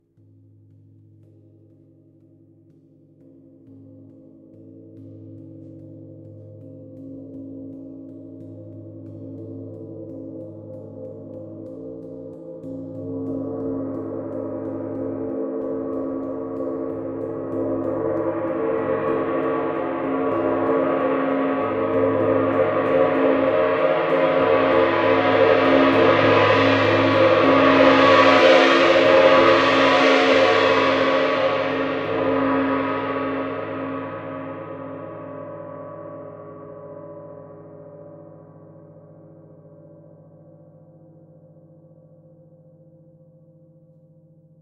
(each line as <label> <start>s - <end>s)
Gong strike 13.8s - 35.4s